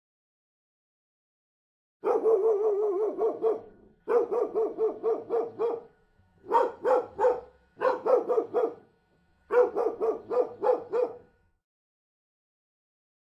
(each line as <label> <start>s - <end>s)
Medium sized dog faster barking 2.0s - 5.8s
Medium sized dog faster barking 6.5s - 8.8s
Medium sized dog faster barking 9.5s - 11.3s